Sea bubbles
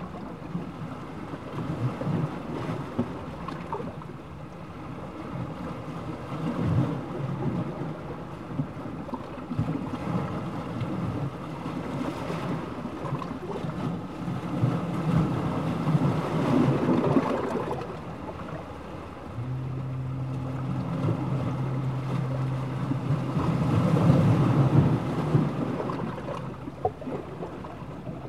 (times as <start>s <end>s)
6.2s 28.2s